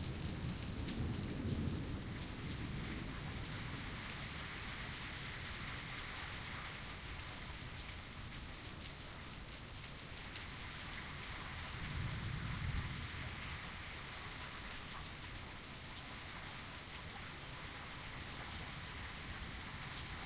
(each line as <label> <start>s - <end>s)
nice rolling thunder 0.0s - 4.4s
rain 0.0s - 20.2s
nice rolling thunder 11.8s - 13.4s